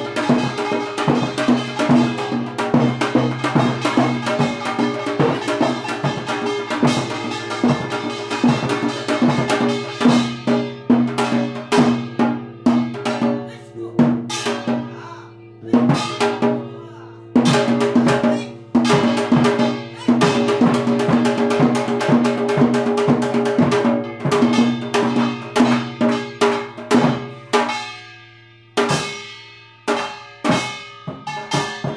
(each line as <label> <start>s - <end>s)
drum 0.0s - 28.0s
gong 0.0s - 13.4s
voice 13.2s - 18.6s
voice 20.0s - 20.5s
gong 24.0s - 31.9s
drum 28.8s - 31.9s